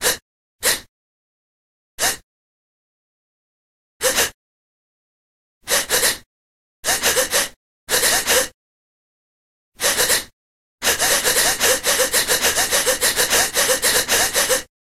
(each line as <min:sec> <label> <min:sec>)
0:00.0 rhythmic breath gasp sounds 0:00.9
0:02.0 rhythmic breath gasp sounds 0:02.2
0:04.0 rhythmic breath gasp sounds 0:04.4
0:05.6 rhythmic breath gasp sounds 0:08.6
0:09.8 rhythmic breath gasp sounds 0:14.7